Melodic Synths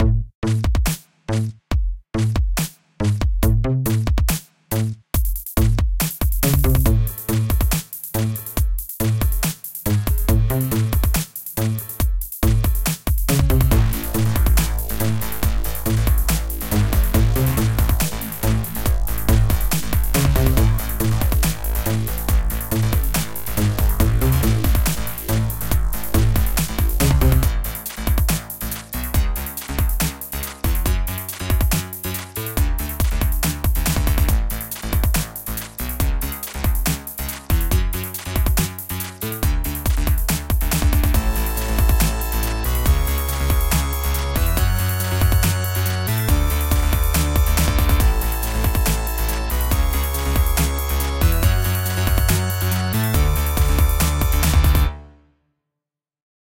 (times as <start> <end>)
13.4 27.9, 41.2 54.9